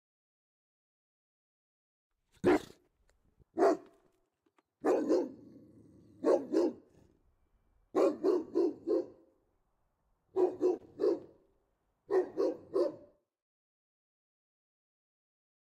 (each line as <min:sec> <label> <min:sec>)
0:02.4 Big dog slow barking 0:02.9
0:03.6 Big dog slow barking 0:04.0
0:04.8 Big dog slow barking 0:07.2
0:07.9 Big dog slow barking 0:09.4
0:10.3 Big dog slow barking 0:11.4
0:12.1 Big dog slow barking 0:13.2